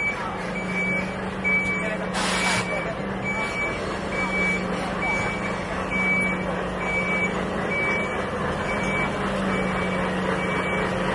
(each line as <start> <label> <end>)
0.0 reversing safety beeper 11.0
0.0 construction truck is slowly reversing 11.1
0.0 pedestrian traffic 11.1
0.0 traffic 11.1